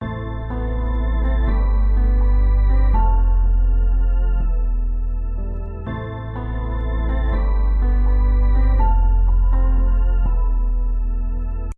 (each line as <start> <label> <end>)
0.0 organ 11.7
0.0 piano 11.7